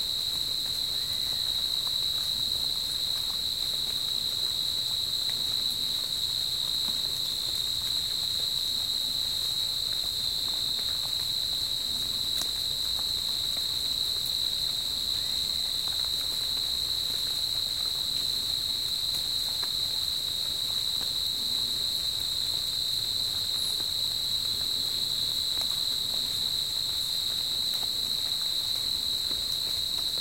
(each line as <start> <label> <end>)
0.0 Crickets 30.2
0.0 Rain drops 30.2